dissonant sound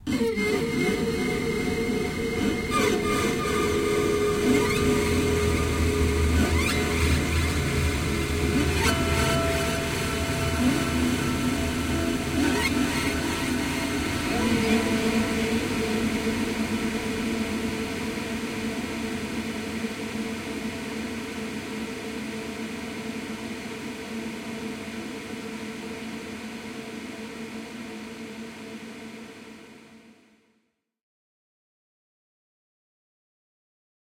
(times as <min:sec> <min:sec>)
0:00.0 0:22.3